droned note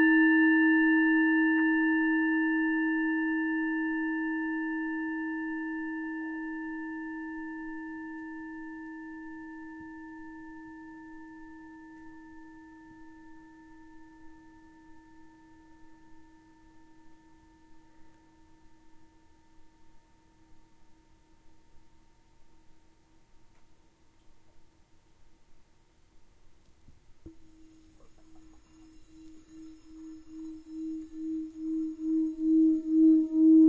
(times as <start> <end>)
27.3 33.6